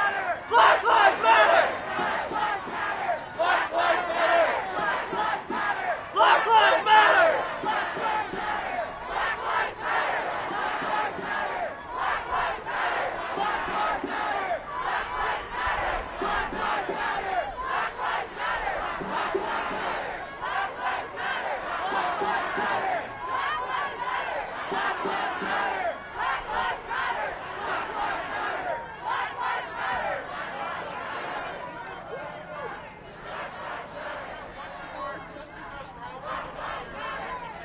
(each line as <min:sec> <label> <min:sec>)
0:00.0 Crowd Protest March passing 0:37.6